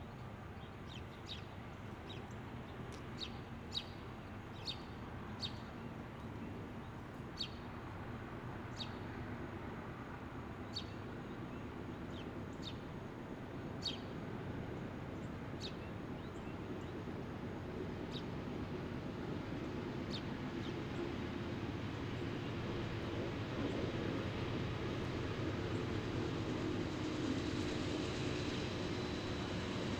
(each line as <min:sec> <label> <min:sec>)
0:12.1 Passing Intermodal Train 0:29.9